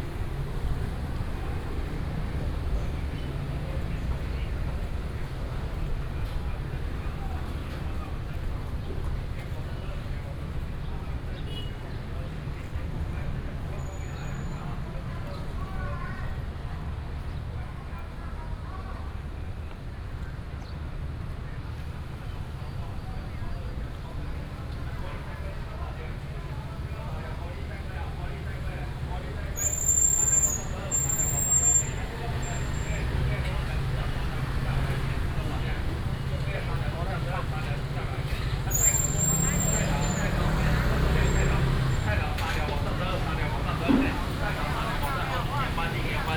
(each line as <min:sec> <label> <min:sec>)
0:00.0 traffic sound 0:46.3
0:26.1 vendors peddling 0:46.3